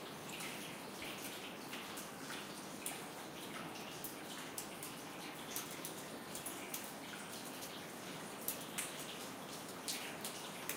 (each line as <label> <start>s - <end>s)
draft coming through the whole building 0.0s - 10.7s
water dripping from the ceiling 0.0s - 10.7s
water you hear streaming in the background 0.0s - 10.7s